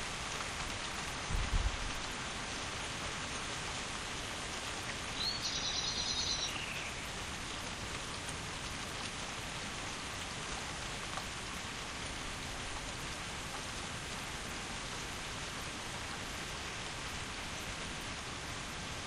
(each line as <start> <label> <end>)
0.0 heavy rain shower on the roof of our conservatory 19.0
5.1 garden birdsong 7.6